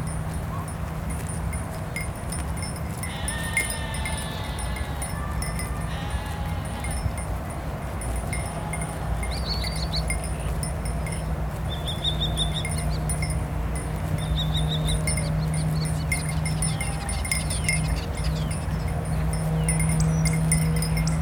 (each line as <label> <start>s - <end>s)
highway in the background 0.0s - 21.2s
grazing sheep 0.0s - 21.2s
bird 11.1s - 13.3s